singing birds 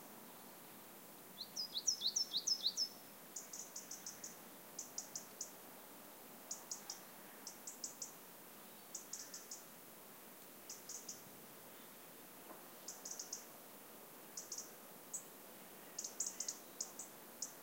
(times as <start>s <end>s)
1.4s 5.6s, 6.5s 9.7s, 10.7s 12.0s, 12.7s 13.6s, 14.4s 17.6s